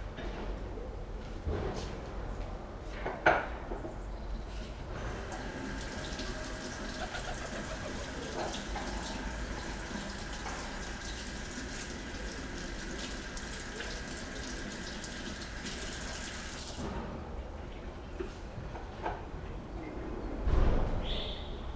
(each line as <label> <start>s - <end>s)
construction workers 4.6s - 17.0s
pigeon 5.9s - 9.8s